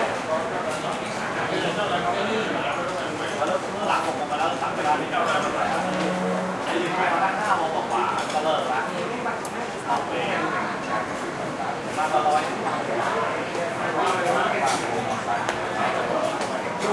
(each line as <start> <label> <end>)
0.0 heavy air conditioner tone 8.2
5.4 bg traffic 7.2